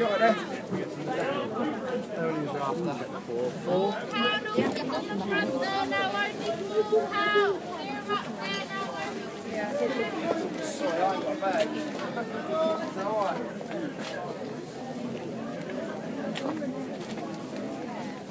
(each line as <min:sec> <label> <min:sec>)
0:00.0 Tourists and locals chatter in a variety of languages 0:18.3
0:03.8 Flower sellers shout out the prices of their wares 0:13.3